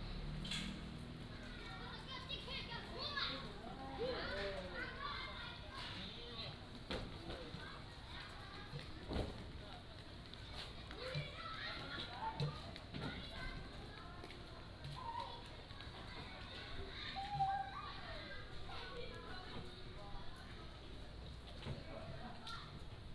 0.0s Traffic Sound 5.6s

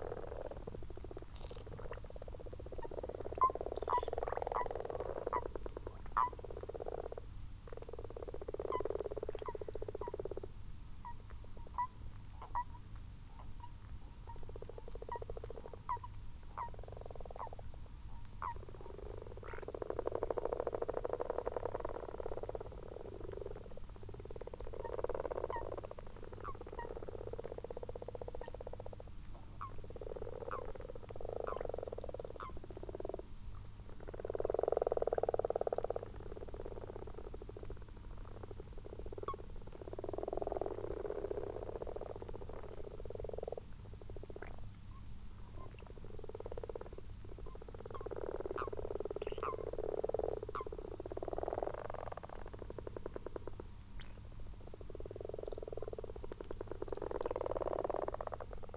0.0s common frogs and common toads in a garden pond 58.7s

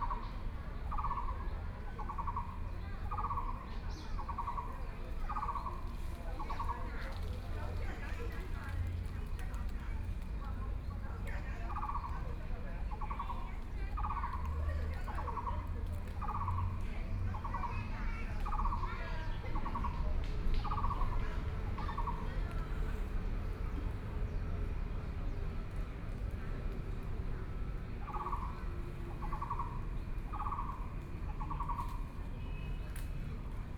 28.0s Birdsong 32.8s

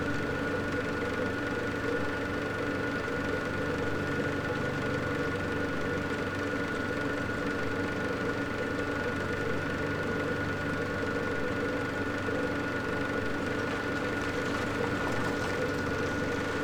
11.3s water pump 16.6s
12.6s water flows into a gully 16.6s

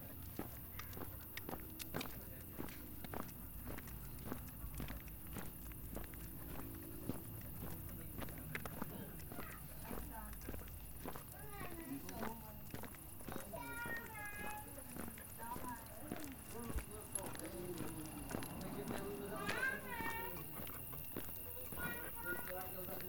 0.0s walking the dog 23.0s

